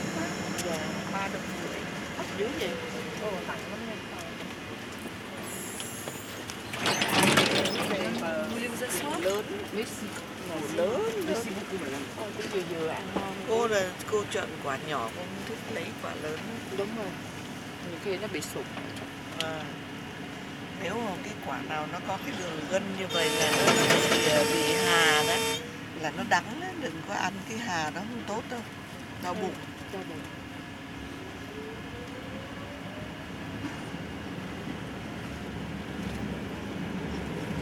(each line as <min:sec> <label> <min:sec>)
0:00.0 2 women talking 0:04.4
0:07.2 2 women talking 0:19.9
0:20.8 2 women talking 0:30.4